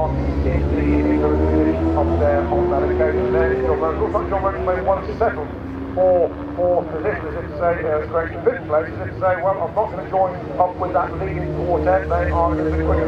0.0s commentary 13.0s

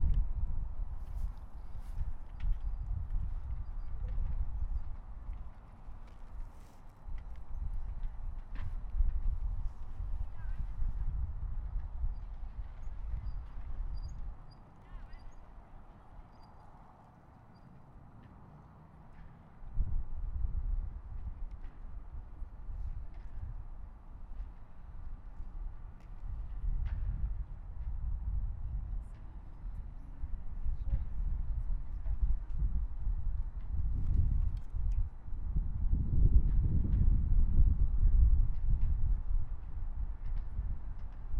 0.0s Wind in the Trees 41.3s

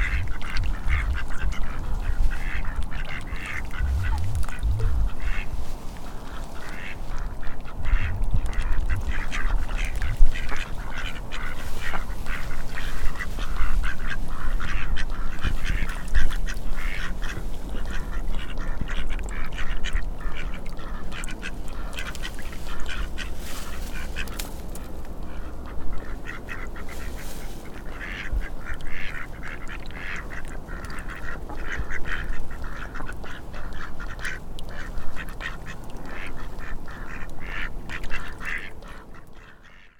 0.0s Chatty Ducks 39.9s

